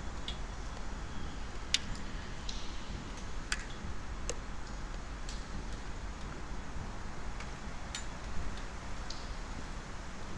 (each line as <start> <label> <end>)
0.0 waters dripping on metallic constructions 10.3